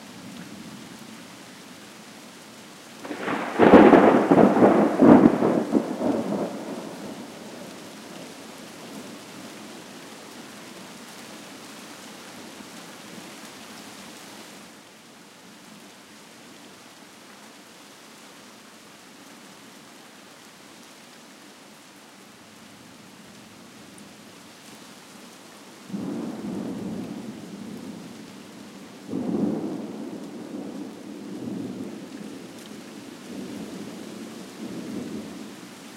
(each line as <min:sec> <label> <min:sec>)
0:00.0 Trees swaying in wind 0:18.2
0:00.0 rain splashing 0:18.2
0:03.0 progressively louder sequences of thunder 0:07.6
0:18.8 rain splashing 0:35.9
0:18.9 Trees swaying in wind 0:35.9